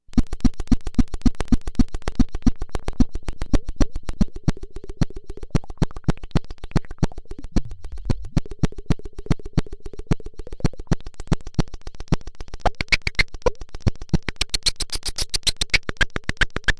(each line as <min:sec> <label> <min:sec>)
0:00.1 Clicks 0:16.7
0:00.9 beat 0:16.7